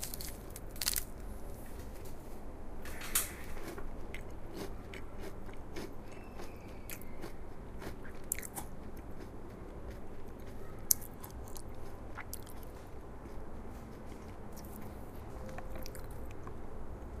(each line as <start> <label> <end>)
3.2 eating Kinder bueno 17.2